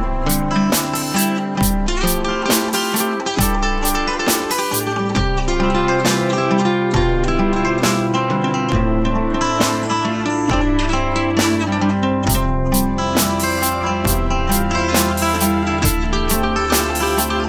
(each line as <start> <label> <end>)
0.0 Synth 6.1
0.0 Beats 17.4
0.0 Guitar 17.4
0.0 Keyboards 17.4
12.2 Synth 17.4